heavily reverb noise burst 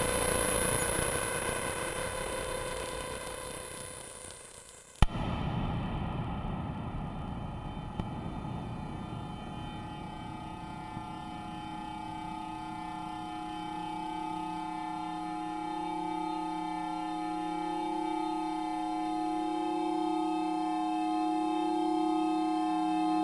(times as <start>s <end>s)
5.0s 16.5s